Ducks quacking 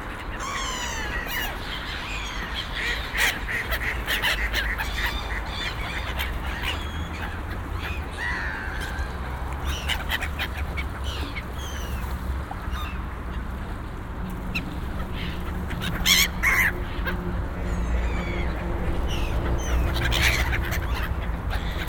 2.3 11.5, 14.5 21.8

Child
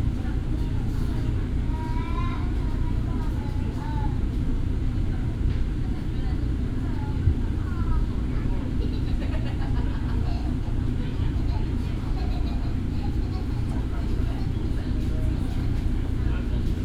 1.7 4.1

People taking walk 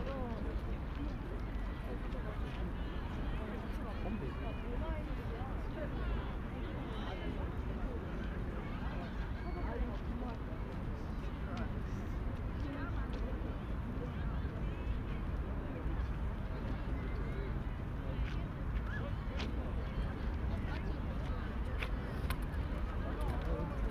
18.2 23.9

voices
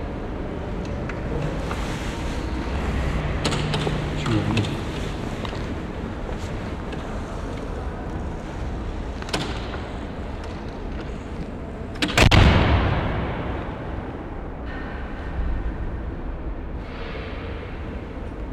0.0 12.0

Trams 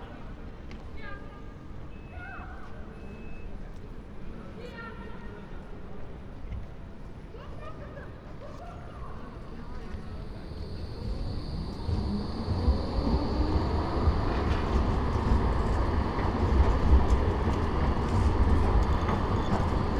9.3 19.9

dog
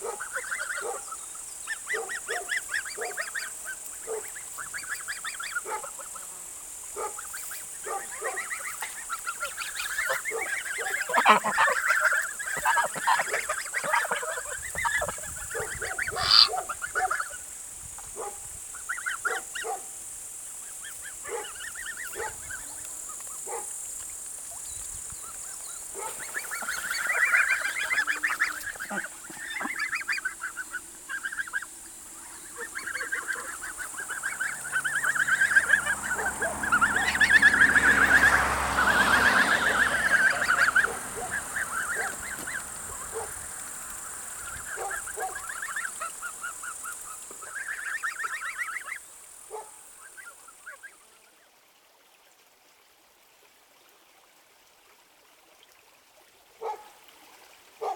0.0 1.0, 1.9 3.2, 4.0 4.3, 5.6 5.9, 7.0 7.2, 7.8 8.4, 19.3 19.9, 21.2 21.6, 22.2 22.4, 23.5 23.7, 26.0 26.2, 43.1 43.3, 44.8 45.4, 49.5 49.8, 56.6 57.0

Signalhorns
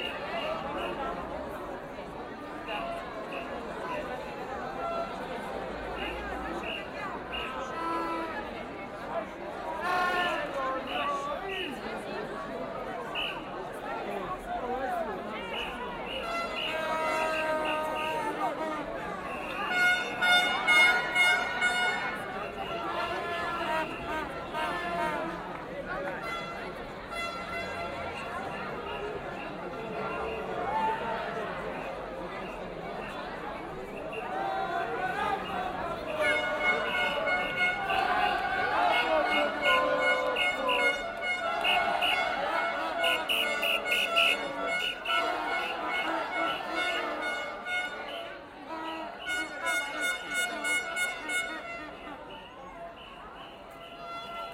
6.0 8.8, 15.5 31.3, 34.0 54.5

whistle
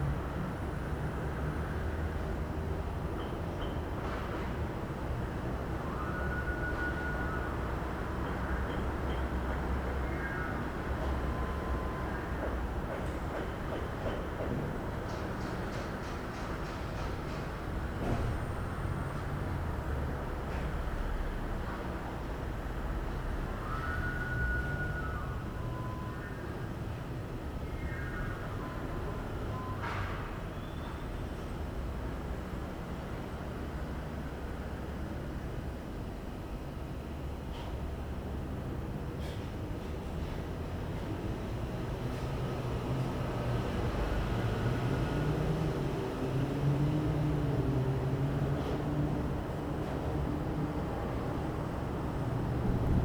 23.6 26.4

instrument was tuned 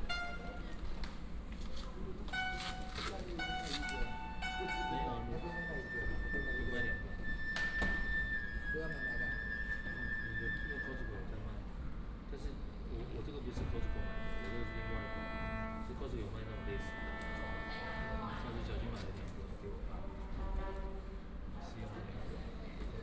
0.0 0.8, 2.3 10.6, 13.6 18.9

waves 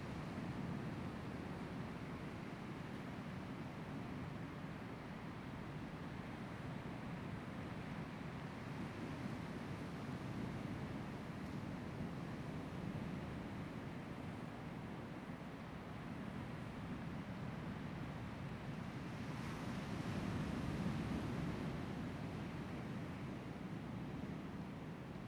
12.5 25.1

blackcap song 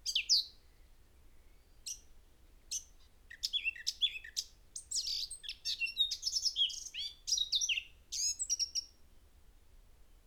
0.0 0.6, 2.7 8.9

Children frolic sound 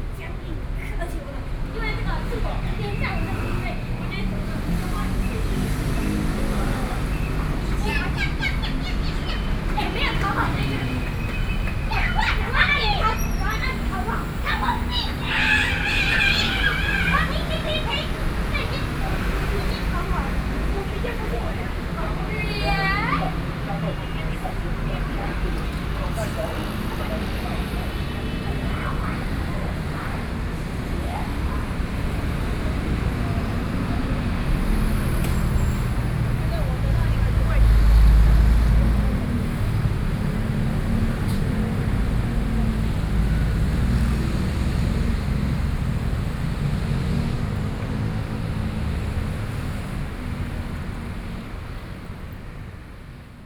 6.9 31.7

